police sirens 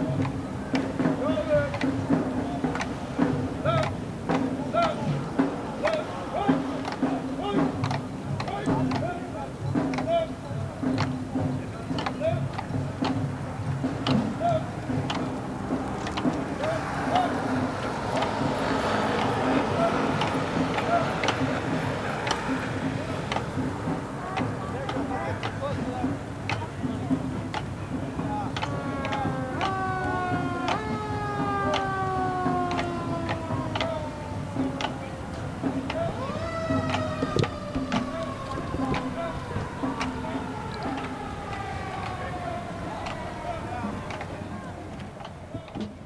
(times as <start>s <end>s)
10.9s 46.0s